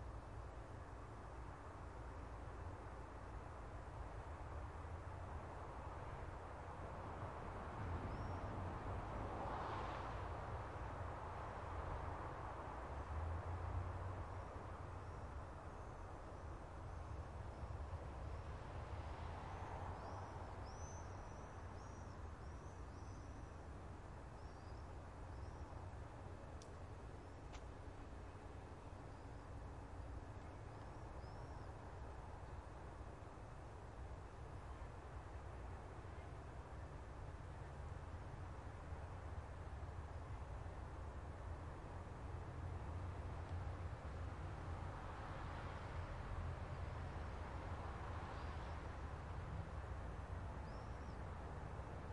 Distant road. Cars 0.0 - 52.1

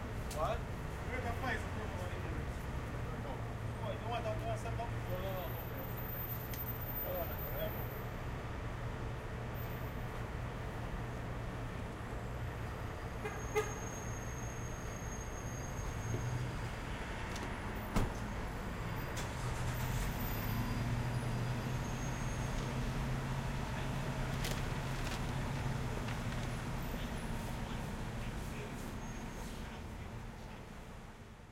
cars 0.0 - 31.5

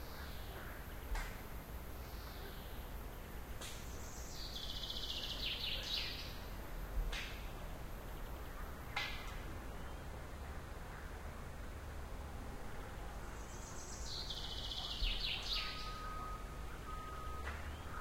birds 0.0 - 11.6
birds 12.8 - 18.0
beep of the truck 15.6 - 18.0

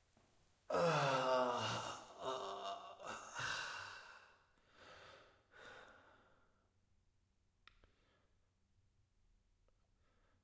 men crying in pain 0.7 - 3.7
Breathing 3.4 - 6.7
Breathing 7.8 - 8.4
Breathing 10.0 - 10.4

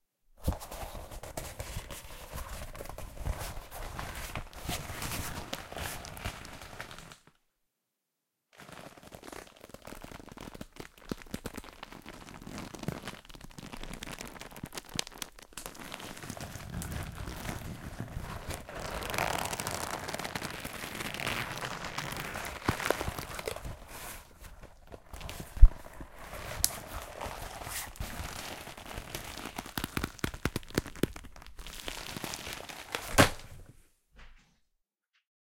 Handling A Rubber Mask 0.3 - 7.2
Handling A Rubber Mask 8.6 - 34.7

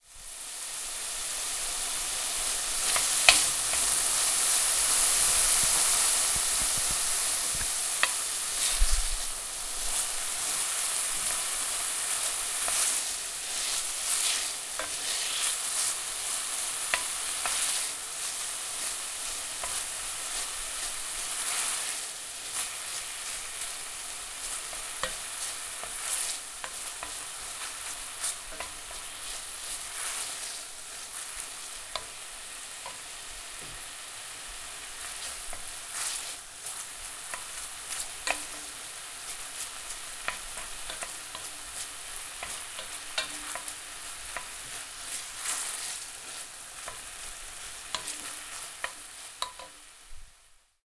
frying bacon in a pan 0.0 - 50.8

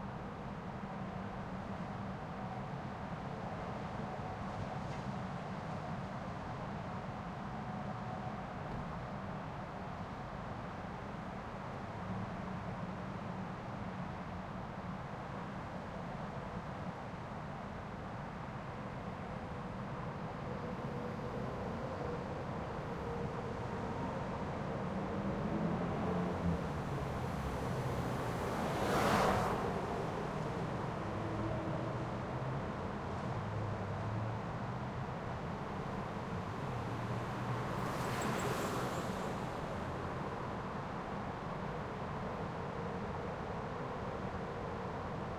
Freeway distant 20.0 - 45.3

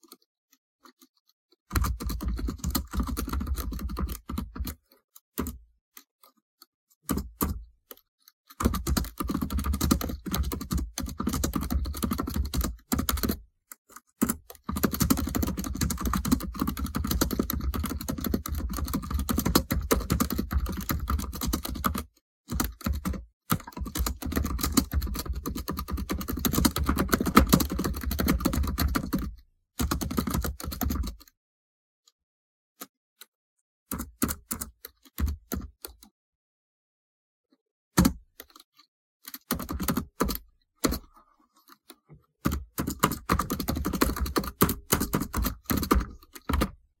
typing on the keyboard 0.0 - 6.4
typing on the keyboard 7.0 - 31.4
typing on the keyboard 33.9 - 36.1
typing on the keyboard 38.0 - 41.1
typing on the keyboard 42.4 - 46.8

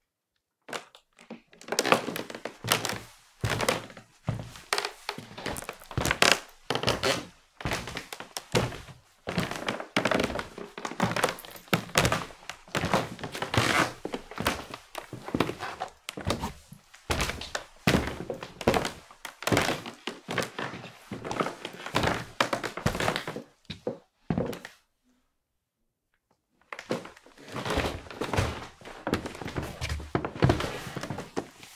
Footstep - Creaky Wooden Floor 0.7 - 24.7
Footstep - Creaky Wooden Floor 26.7 - 31.7

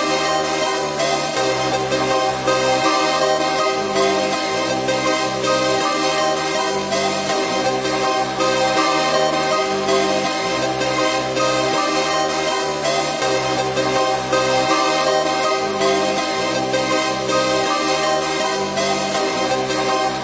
Dramatic Music 0.0 - 20.2

